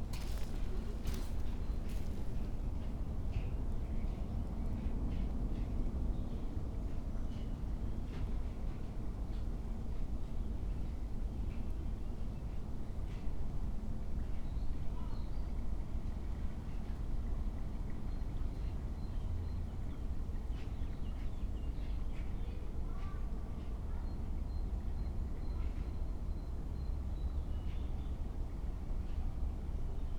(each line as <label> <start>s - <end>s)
clogs on sand 0.0s - 2.7s
river flows quietly 0.0s - 3.3s